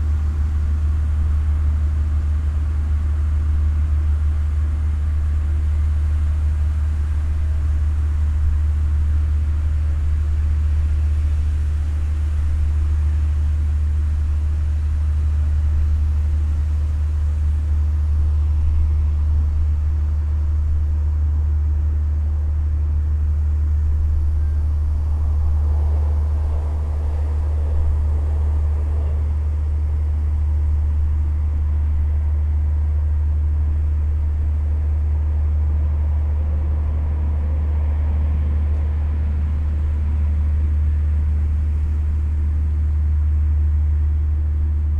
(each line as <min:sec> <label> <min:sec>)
0:00.0 heavy drone of a passenger ship 0:44.9
0:15.0 traffic sounds 0:43.4